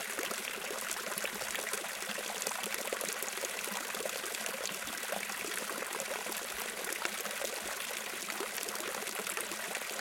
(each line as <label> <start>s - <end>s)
Small Fountain 0.0s - 10.0s